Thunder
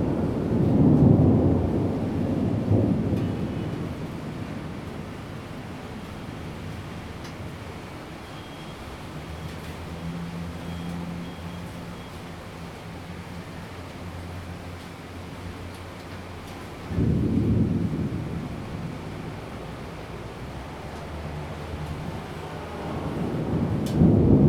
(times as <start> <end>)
0.0 5.8, 16.8 24.4